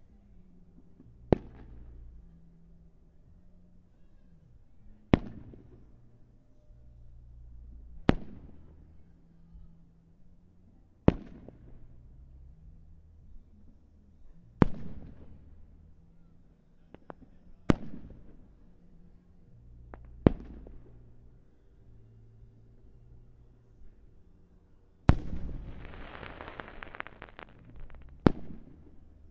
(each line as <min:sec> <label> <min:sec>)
0:01.3 Fireworks 0:02.1
0:08.0 Fireworks 0:08.7
0:11.1 Fireworks 0:11.8
0:14.6 Fireworks 0:15.6
0:16.9 Fireworks 0:18.4
0:20.0 Fireworks 0:21.0
0:25.1 Fireworks 0:29.3